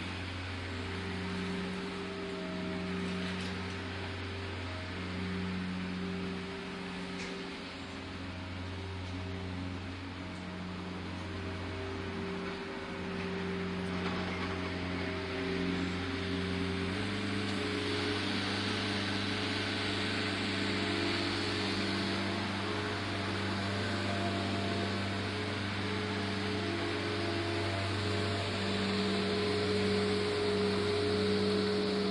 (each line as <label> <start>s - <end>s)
grass cutting 0.0s - 32.1s